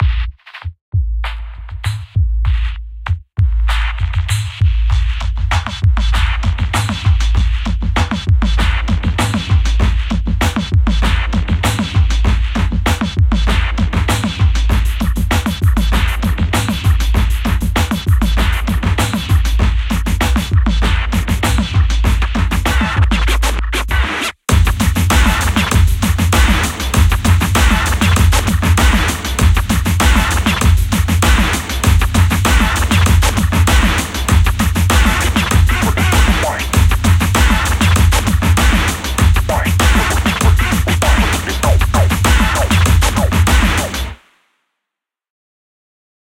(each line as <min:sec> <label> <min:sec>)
0:22.7 scratch 0:44.1